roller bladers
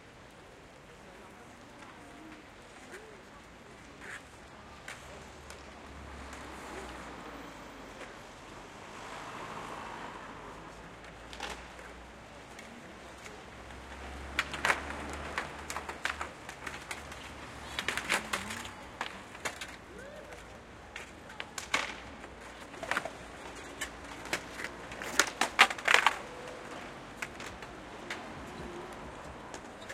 11.0 29.9

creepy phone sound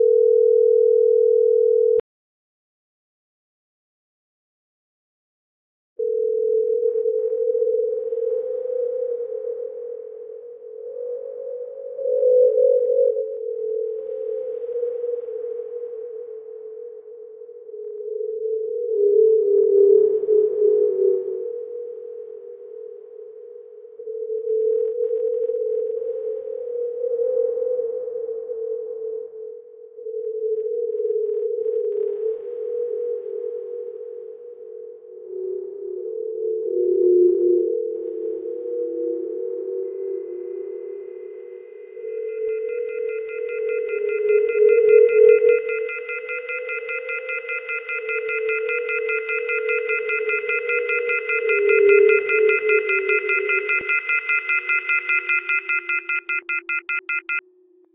41.4 57.4

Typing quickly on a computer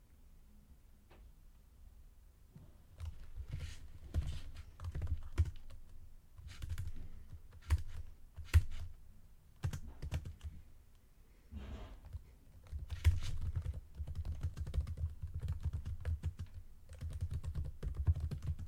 3.0 8.9, 9.6 10.6, 12.0 18.6

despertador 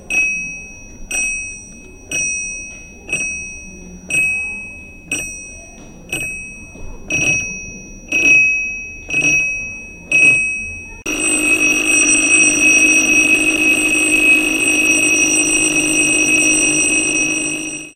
11.1 17.9

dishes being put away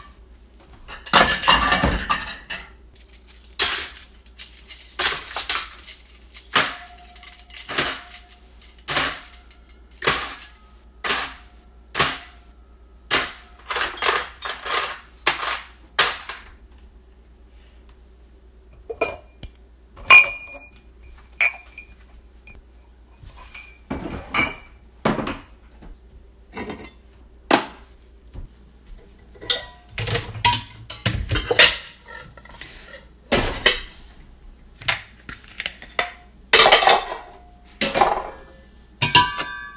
0.8 2.8, 3.5 11.4, 13.1 16.6, 18.8 19.4, 20.0 22.6, 23.4 25.6, 26.5 27.9, 29.3 34.0, 34.8 39.7

